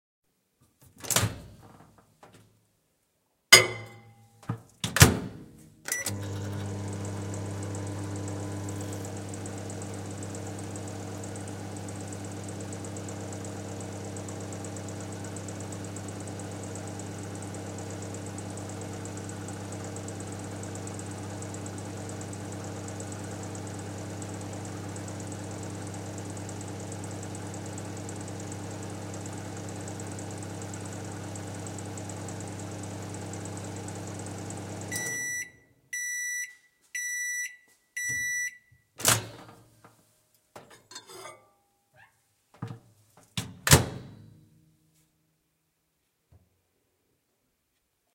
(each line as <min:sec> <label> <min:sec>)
0:03.6 putting a cup into the microwave 0:05.3
0:05.9 Microwave 0:39.6
0:39.0 closing door 0:39.6
0:43.4 opening microwave door 0:44.2
0:43.4 Microwave 0:44.5